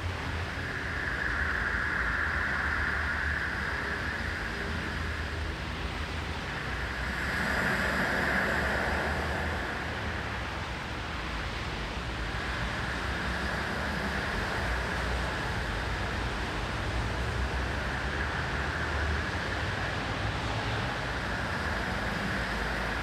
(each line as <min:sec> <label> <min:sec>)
0:00.0 Ocean surf 0:23.0